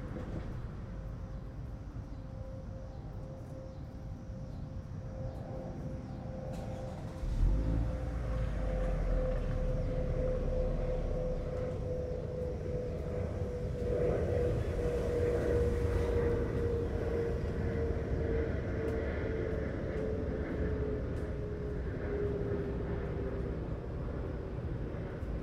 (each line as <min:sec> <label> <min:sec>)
0:00.0 planes 0:25.4
0:00.0 Cicadas 0:19.0
0:06.4 traffic 0:25.4